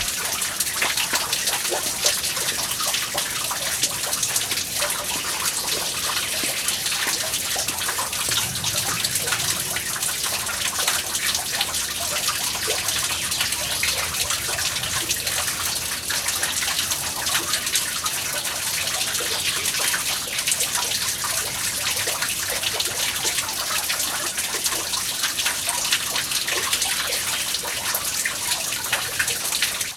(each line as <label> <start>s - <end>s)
little fountain 0.0s - 29.9s